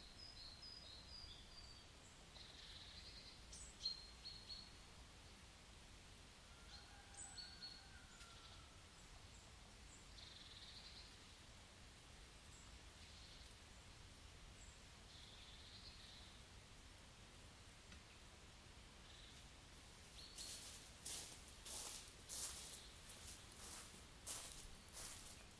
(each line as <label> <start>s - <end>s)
birds singing 20.2s - 25.5s